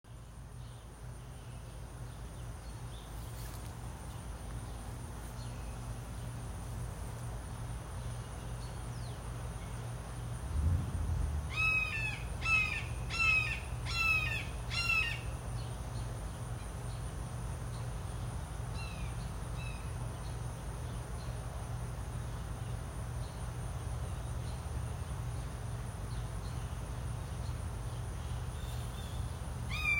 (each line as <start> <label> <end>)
0.1 General ambiance of neighborhood 29.9